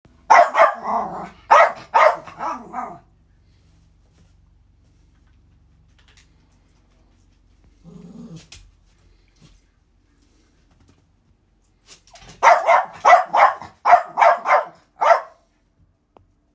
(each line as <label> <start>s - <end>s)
growls 2.3s - 3.1s
growls 7.6s - 8.7s